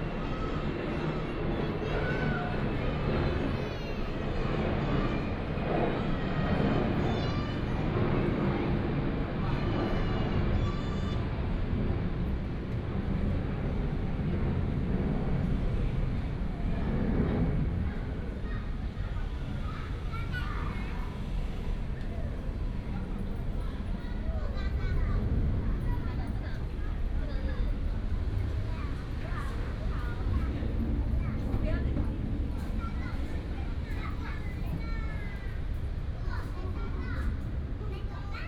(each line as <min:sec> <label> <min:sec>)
0:00.0 Child 0:11.7
0:16.6 Child 0:38.4